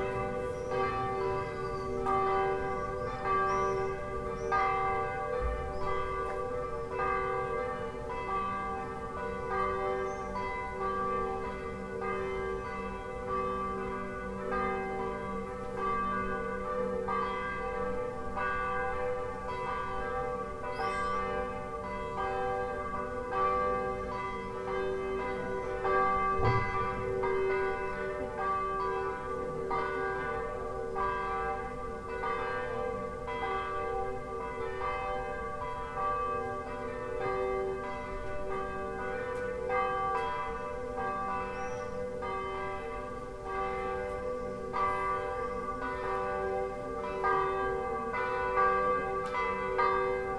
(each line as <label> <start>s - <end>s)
all the bells in the locale started to ring 0.0s - 50.3s